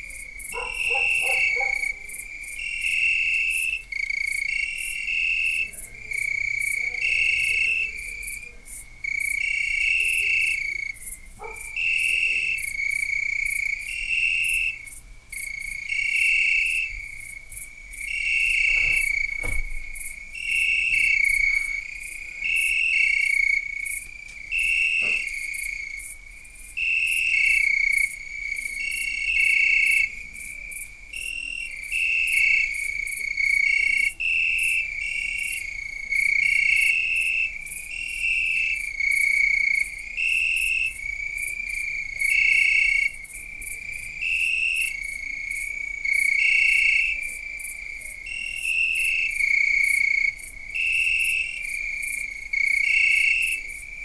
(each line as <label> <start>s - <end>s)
Insects 0.0s - 54.0s
dogs 0.5s - 2.1s
dogs 11.4s - 11.8s